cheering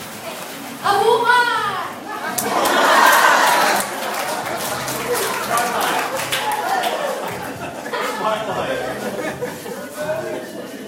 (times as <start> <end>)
2.2 8.0